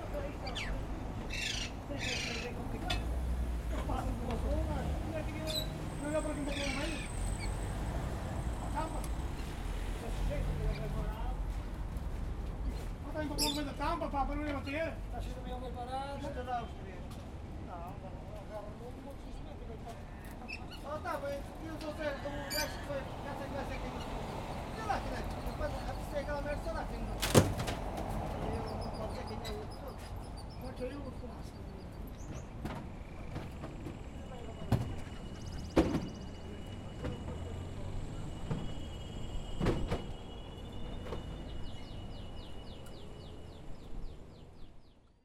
vendors are packing bird cages into a truck 0.0 - 44.0

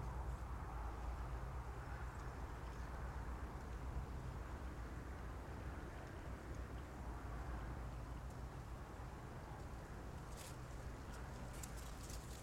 distant traffic 0.0 - 12.4
close dried grass 10.1 - 12.4

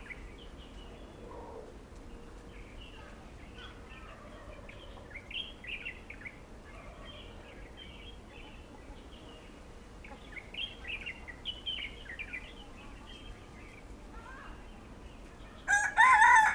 Birds singing 14.6 - 16.5
Chicken sounds 15.7 - 16.5
Turkey calls 15.7 - 16.5

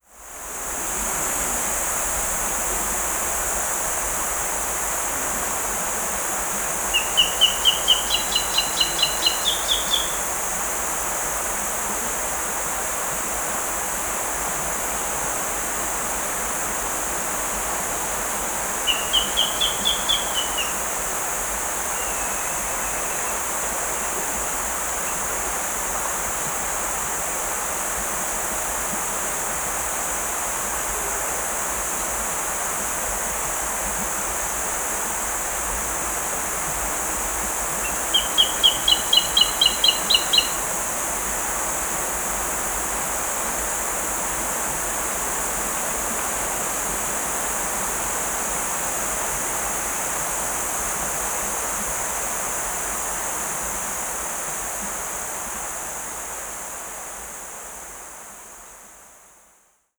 cicadas 0.0 - 59.9
River 0.1 - 59.2
birds 6.7 - 10.4
birds 18.0 - 24.2
birds 37.4 - 41.4

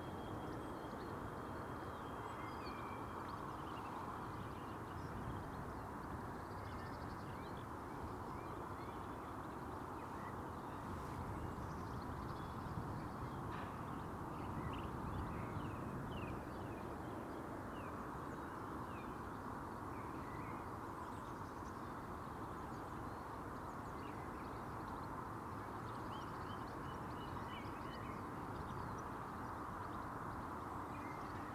wind 0.0 - 31.5

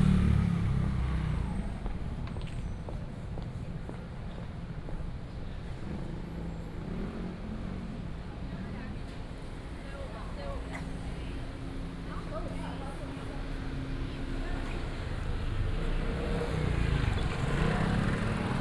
Traffic Sound 0.0 - 18.6
Walking in the alley 0.0 - 18.6

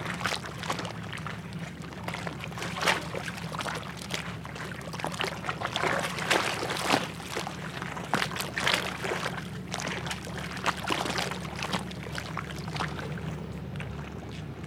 Sludgy sounding water lapping against the wharf 0.0 - 14.6

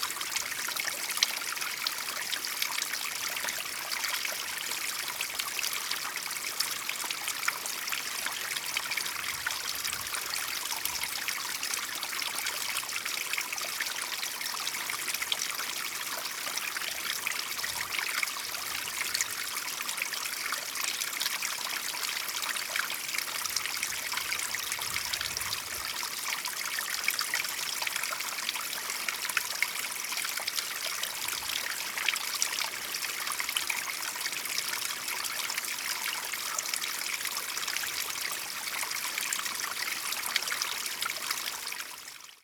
A small waterfall 0.0 - 42.4

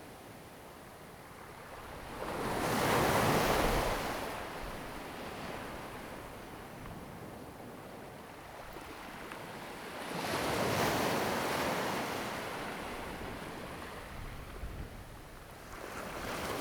waves 1.6 - 16.6

